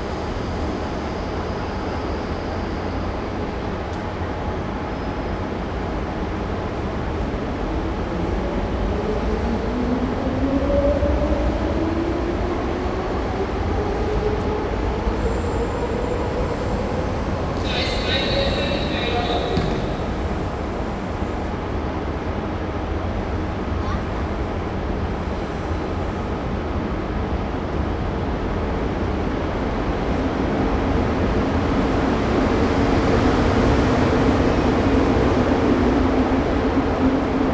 ICE train arriving 14.4 - 26.3

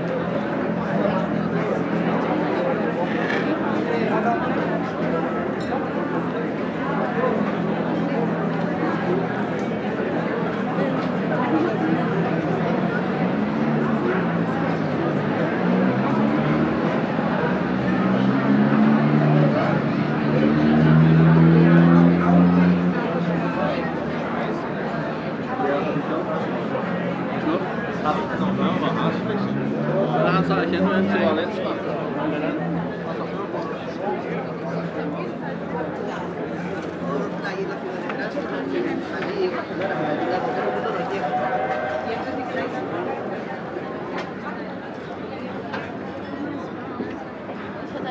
Tourists drinking 0.0 - 19.4
calls from tourist boats 0.0 - 48.1
Tourists drinking 35.6 - 47.9

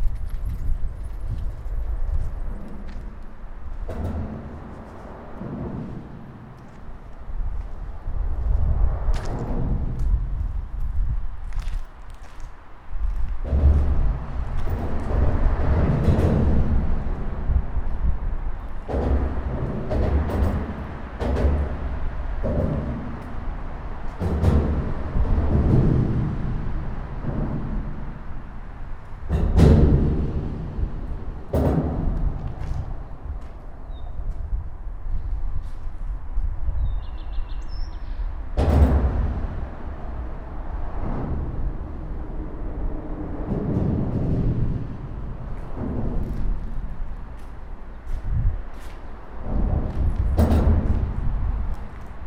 passing cars 0.0 - 37.4
passing cars 38.0 - 52.2

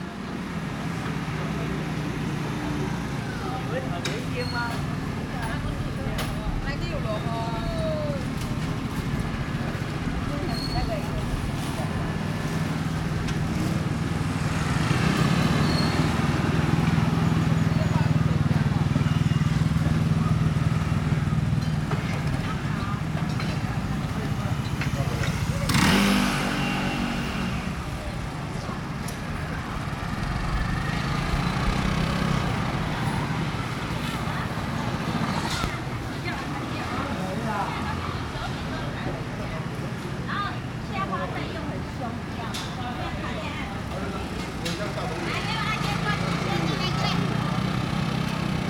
Walking through the traditional market 0.0 - 48.6

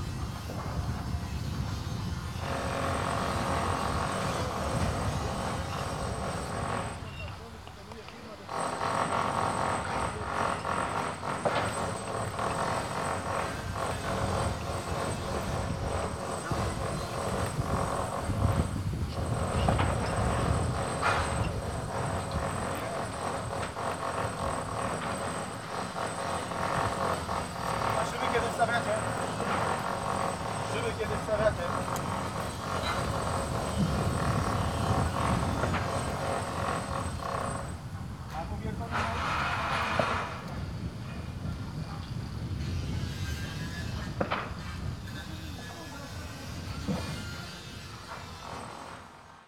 construction sounds 0.0 - 49.4

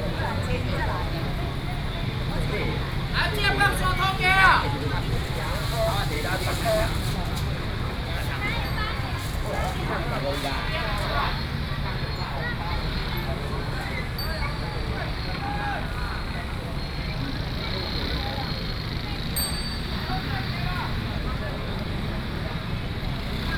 Traffic sound 0.0 - 23.5
market selling voice 0.0 - 23.5

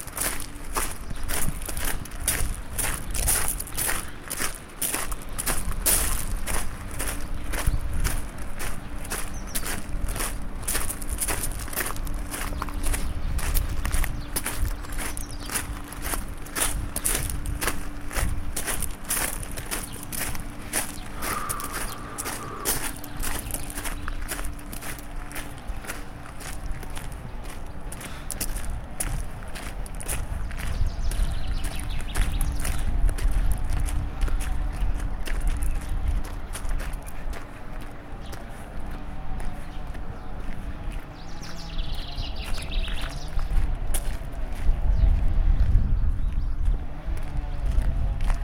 voice of the nature 18.9 - 46.9

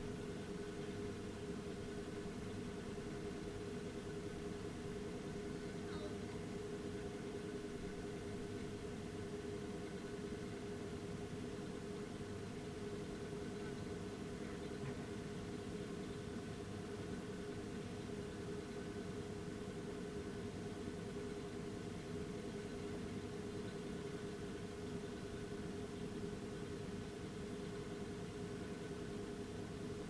noisy air vent 0.0 - 30.0

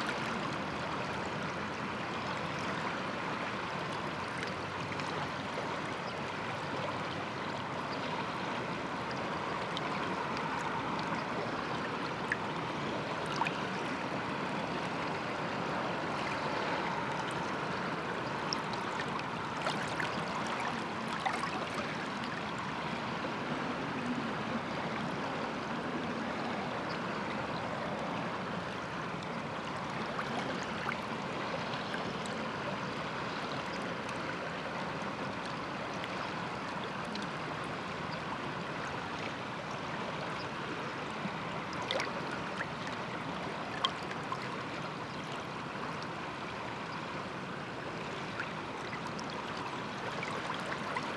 river flux 0.0 - 51.1

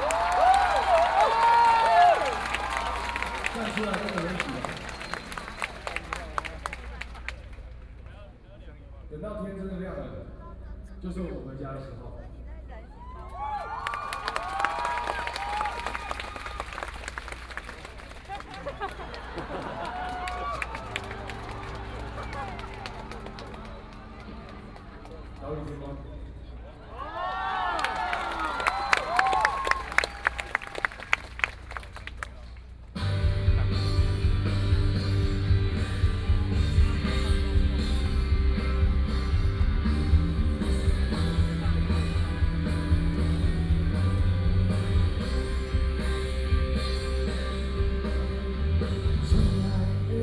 People cheering 0.0 - 7.8
People cheering 12.9 - 32.7
Rock band 33.0 - 50.2

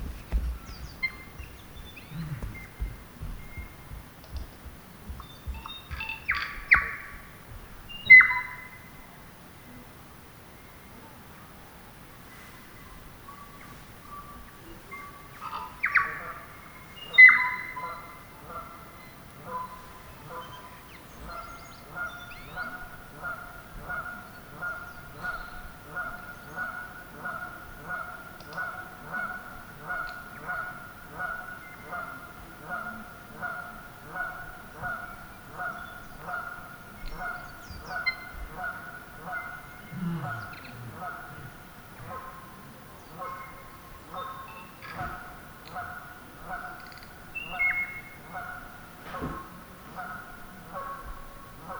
occasional footsteps 0.0 - 7.7
Birdlife 0.0 - 8.8
Birdlife 12.5 - 51.7

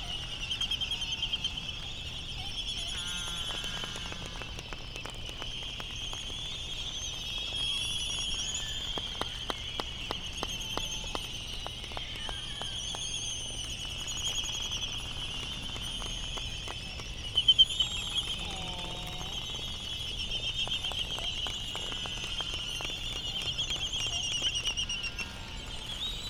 laysan calls and bill clapperings 0.0 - 26.2
voices 16.1 - 26.2

